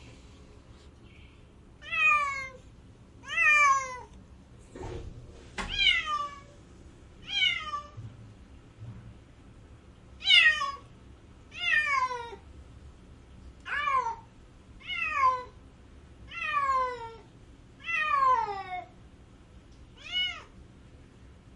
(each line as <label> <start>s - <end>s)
Cat Crying 1.8s - 2.6s
Cat Crying 3.2s - 4.1s
Cat Crying 5.7s - 6.5s
Cat Crying 7.2s - 8.0s
Cat Crying 10.2s - 10.8s
Cat Crying 11.5s - 12.4s
Cat Crying 13.7s - 15.6s
Cat Crying 16.3s - 18.9s
Cat Crying 20.0s - 20.6s